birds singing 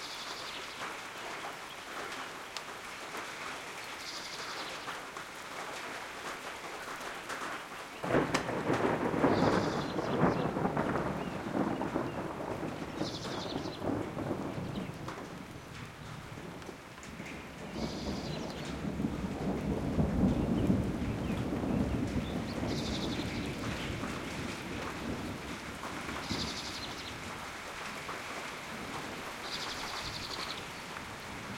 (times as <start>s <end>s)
3.8s 4.9s, 9.3s 14.0s, 17.7s 18.7s, 20.4s 24.0s, 26.2s 27.2s, 29.4s 31.0s